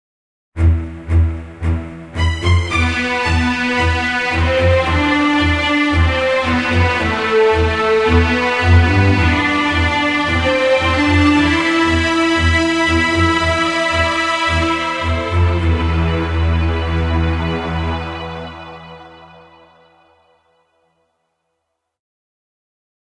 Strings 0:00.6 - 0:20.8

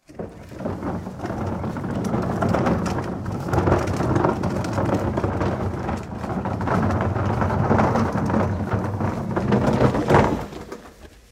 Recycle Bin Roll Stop Plastic Wheel Cement 0:00.0 - 0:11.3

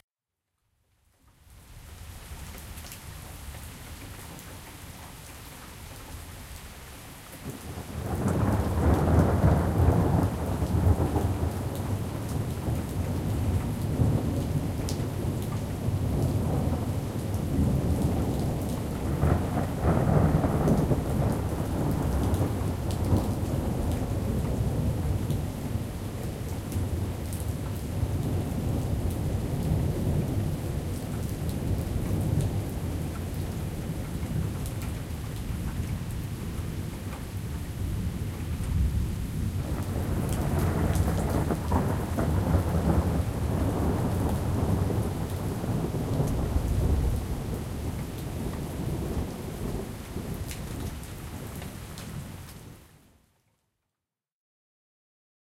Rain 0:00.6 - 0:53.9
Thunder 0:07.7 - 0:25.4
Thunder 0:39.6 - 0:50.9

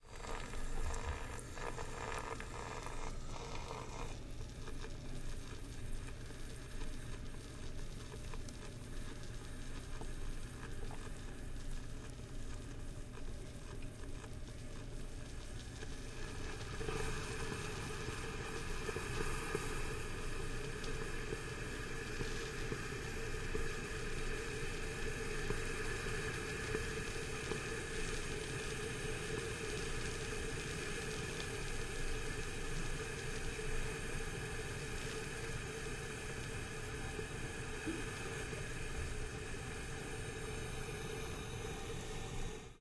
Coffeemaker-steam-hiss 0:00.0 - 0:04.3
Coffeemaker-steam-hiss 0:15.1 - 0:42.8

